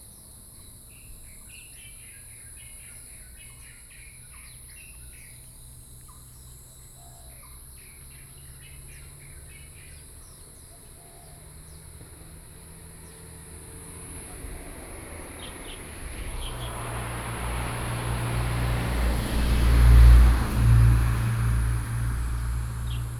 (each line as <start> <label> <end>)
0.0 Insect sounds 23.1
0.2 Birds singing 12.0
5.5 traffic sound 23.1
15.3 Birds singing 17.0